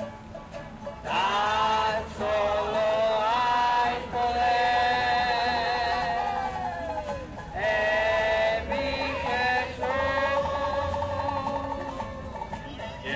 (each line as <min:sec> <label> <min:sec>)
0:01.0 Gospel singers 0:13.1